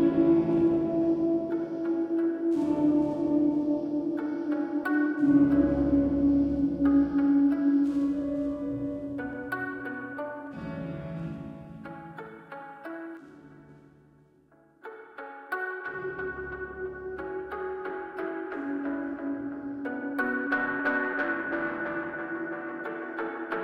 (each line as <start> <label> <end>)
0.0 Piano theme 12.6
0.0 Guitar Passage 23.6